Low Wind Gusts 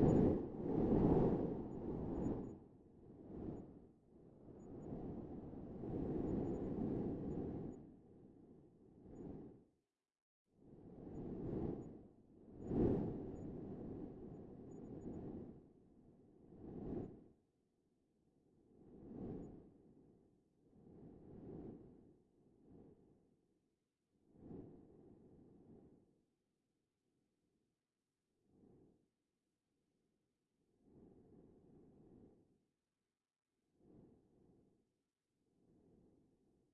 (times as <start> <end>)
0.0 2.6